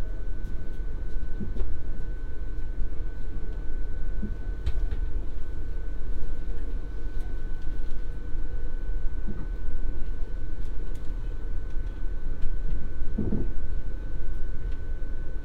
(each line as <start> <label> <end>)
0.0 train 15.1